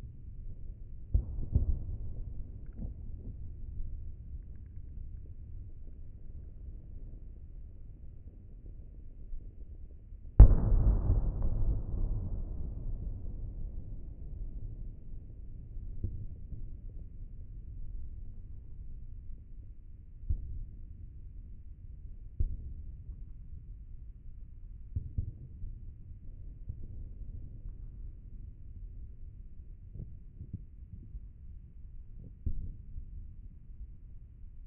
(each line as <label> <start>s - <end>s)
explosion 10.4s - 15.9s